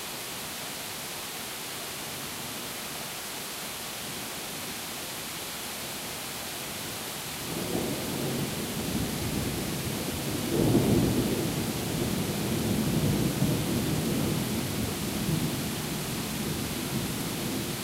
Heavy Rain 0:00.0 - 0:17.8
Thunder 0:07.5 - 0:15.8

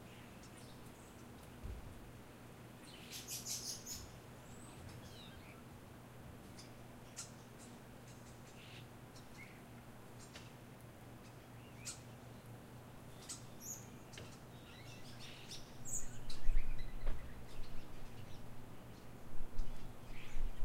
backyard birds 0:00.0 - 0:20.6

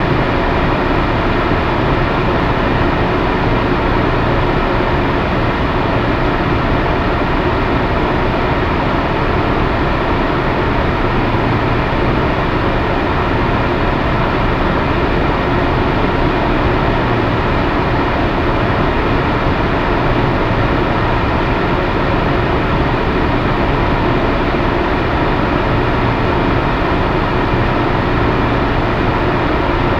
Air purifier humming noise 0:00.0 - 0:29.9

